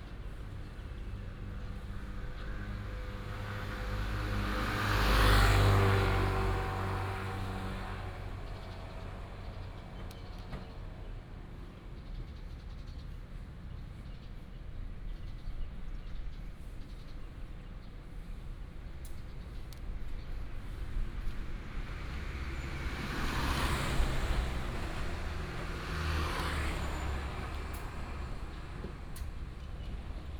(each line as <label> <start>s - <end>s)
Traffic sound 0.0s - 12.8s
Traffic sound 17.1s - 30.3s